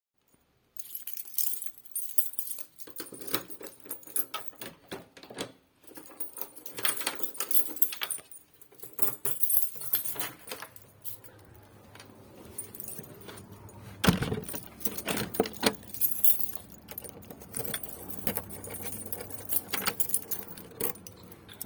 keys 0:00.8 - 0:21.6
locking 0:02.8 - 0:21.6
Opening and closing the front door 0:09.3 - 0:21.6

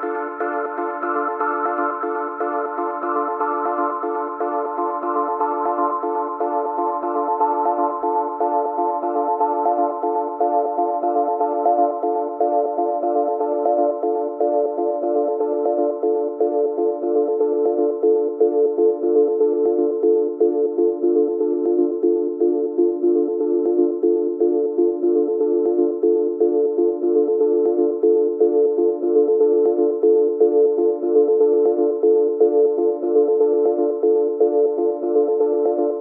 basic synth with filter and effect 0:00.0 - 0:36.0

